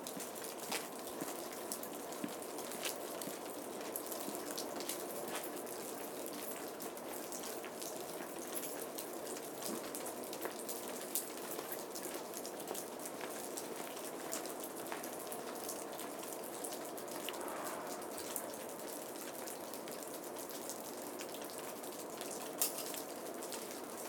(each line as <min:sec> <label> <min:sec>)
0:00.0 footsteps pass 0:05.6